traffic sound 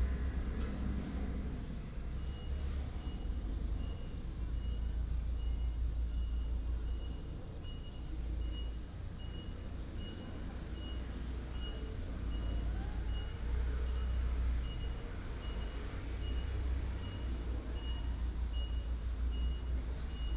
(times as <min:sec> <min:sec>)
0:08.8 0:20.3